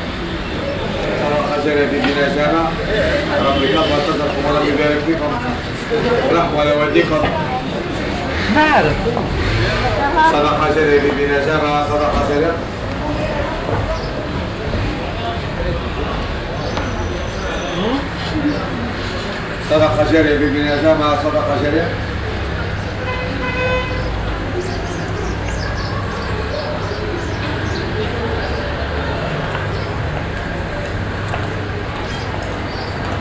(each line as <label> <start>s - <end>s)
voice of a ticket seller 0.8s - 12.7s